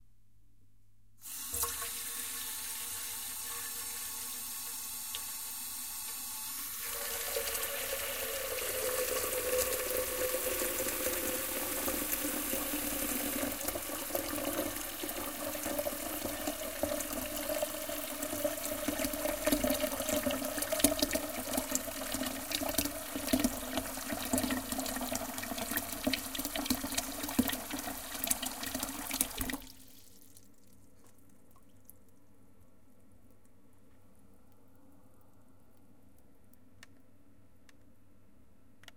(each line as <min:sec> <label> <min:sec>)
0:01.3 water into pot 0:30.6